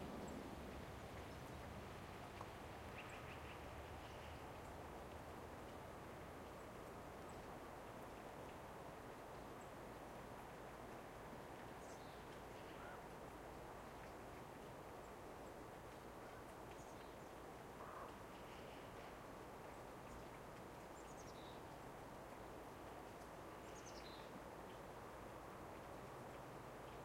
fountain 0.0 - 27.0
crows 12.6 - 13.1
crows 17.8 - 18.8

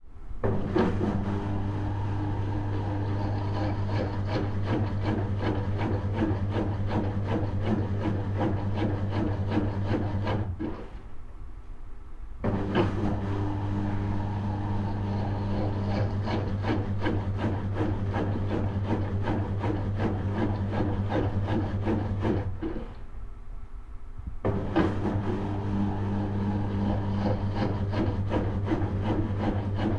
Washing Machine Wash Cycle 0.4 - 11.2
Washing Machine Wash Cycle 12.4 - 23.1
Washing Machine Wash Cycle 24.4 - 29.9

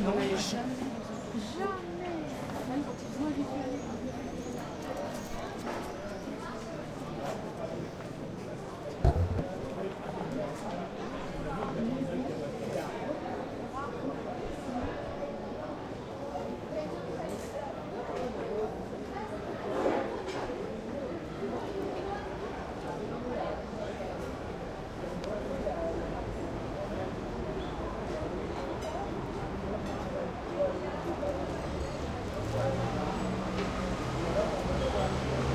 People at the coffe terasse 0.0 - 35.5
traffic 24.5 - 35.5

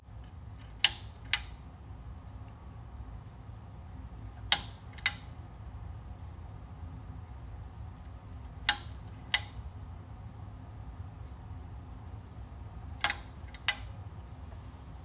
Floor lamp chain pull switch is yanked 0.6 - 1.6
Floor lamp chain pull switch is yanked 4.4 - 5.3
Floor lamp chain pull switch is yanked 8.6 - 9.6
Floor lamp chain pull switch is yanked 12.9 - 13.9

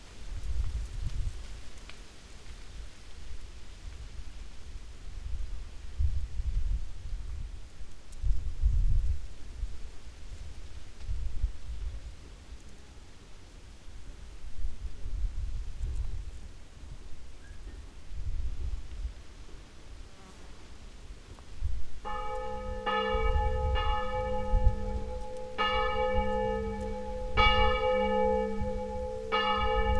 church bells 22.0 - 29.9

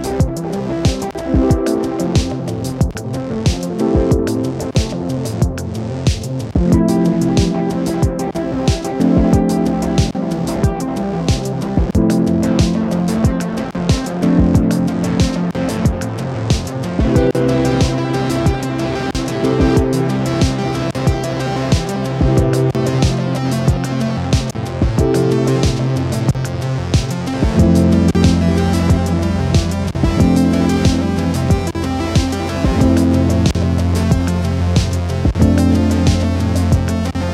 drums 0.0 - 37.3

